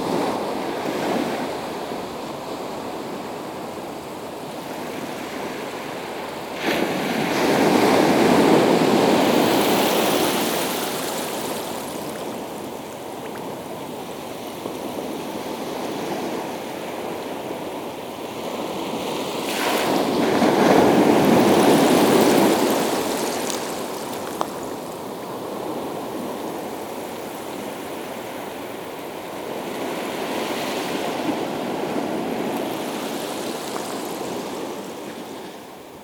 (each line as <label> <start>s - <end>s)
The sea 0.0s - 36.0s